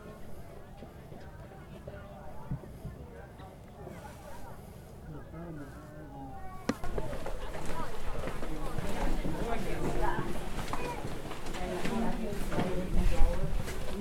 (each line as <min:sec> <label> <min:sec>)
0:00.0 people 0:14.0